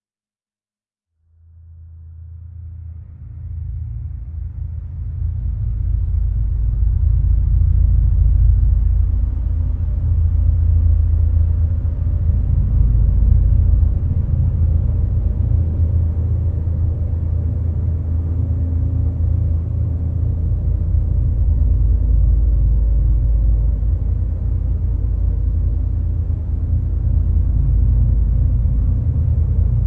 1.4s drone 29.8s

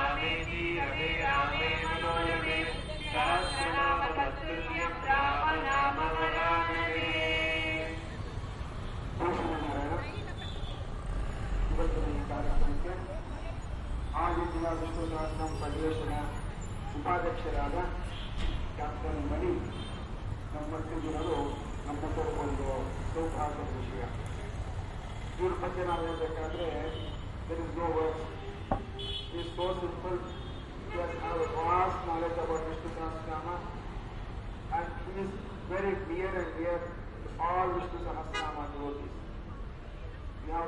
0.0s sermon of a priest 8.0s

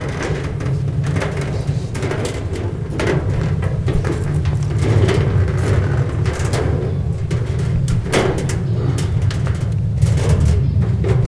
0.0s Walking up to metal stairs 11.2s

